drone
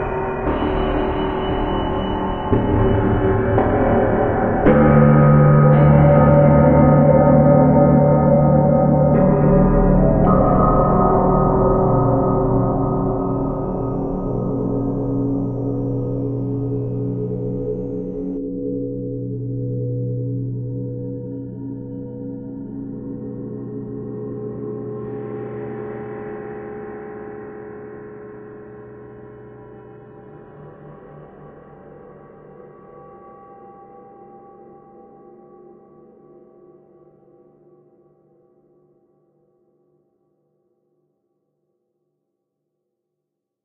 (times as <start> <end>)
0.0 34.2